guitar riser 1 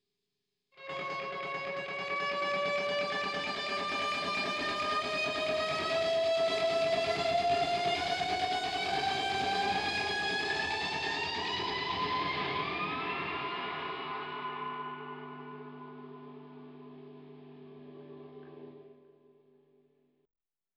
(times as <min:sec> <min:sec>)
0:00.9 0:17.0